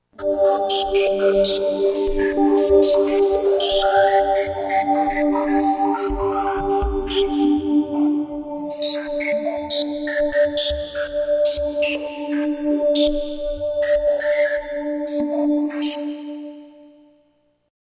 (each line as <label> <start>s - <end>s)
Cosmos sound from my Roland GR-33 Guitar Synth 0.2s - 16.2s